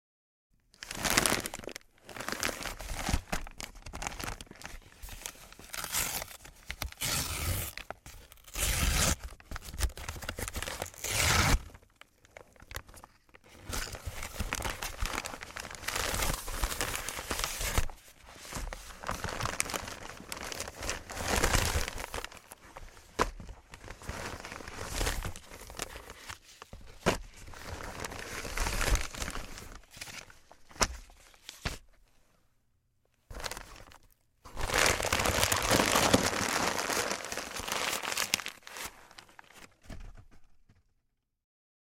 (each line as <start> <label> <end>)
0.8 Crumpling the envelope 31.8
0.8 Ripping the package open 13.0
0.8 opening a large brown paper padded envelope 31.9
18.6 Ripping the package open 22.6
33.3 Ripping the package open 40.0
33.3 Crumpling the envelope 40.4
33.3 opening a large brown paper padded envelope 40.8